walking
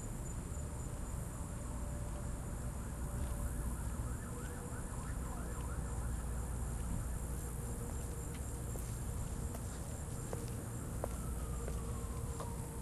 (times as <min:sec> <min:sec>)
0:06.6 0:12.8